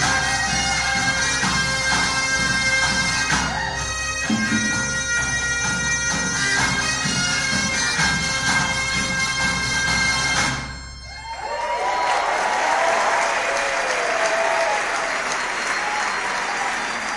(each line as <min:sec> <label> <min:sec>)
0:00.0 drums 0:11.2
0:00.0 Bagpipes 0:12.3
0:11.1 spirited shouts 0:17.1
0:11.2 applause of festival crowd 0:17.1